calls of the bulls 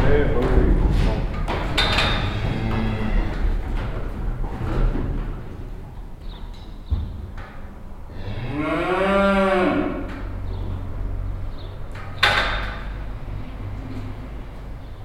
0:08.1 0:10.4

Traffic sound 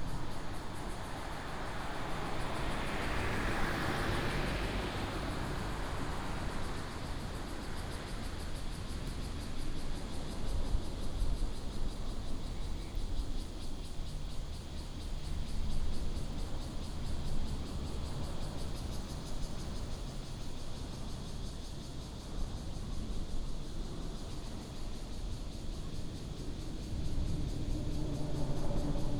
0:00.0 0:08.5, 0:11.9 0:21.1

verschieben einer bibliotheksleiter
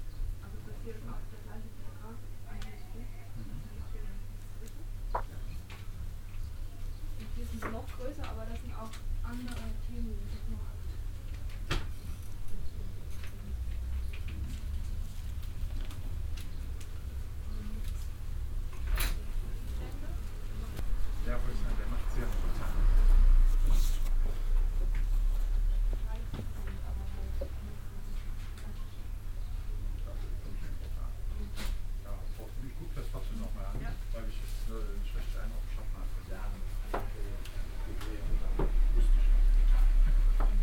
0:07.1 0:11.6

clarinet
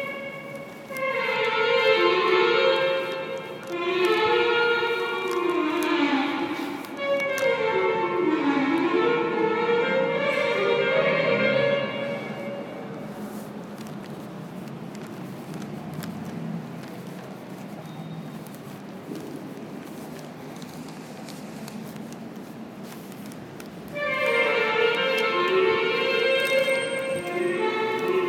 0:00.0 0:13.4, 0:23.9 0:28.2

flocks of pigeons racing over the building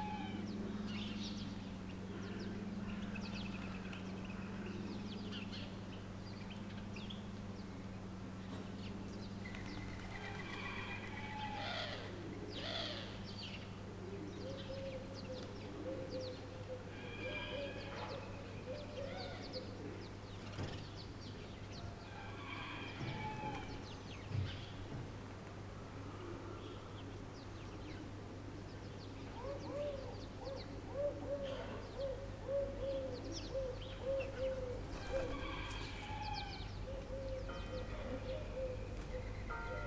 0:09.5 0:11.1, 0:34.6 0:36.1

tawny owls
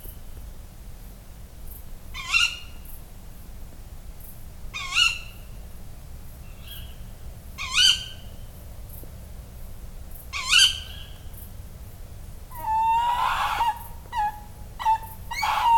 0:07.6 0:08.2, 0:10.3 0:11.2, 0:12.5 0:15.7

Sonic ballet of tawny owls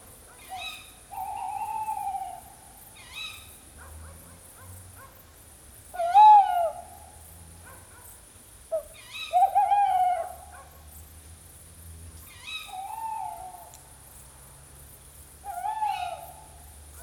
0:00.5 0:03.3, 0:06.0 0:07.1, 0:08.7 0:10.5, 0:12.3 0:13.7, 0:15.4 0:16.6

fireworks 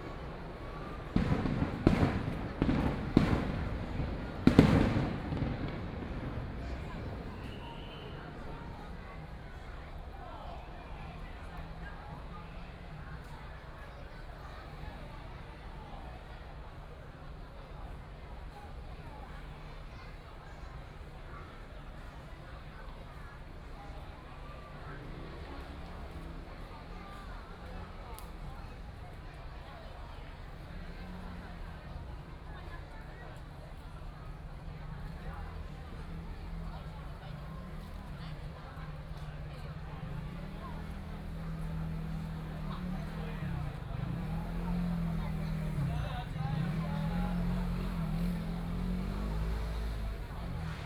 0:00.0 0:09.0

